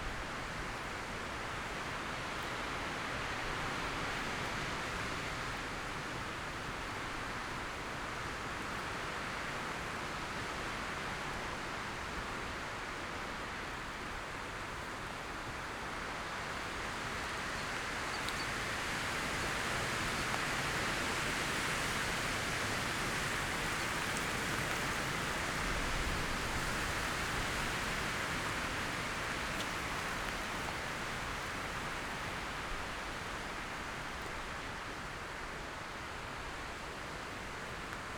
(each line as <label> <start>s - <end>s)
wind in high trees 14.5s - 38.1s